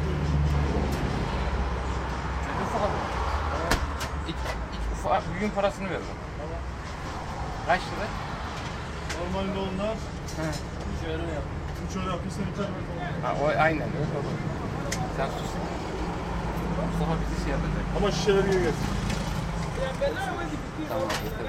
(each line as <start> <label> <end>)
19.7 people talking 21.4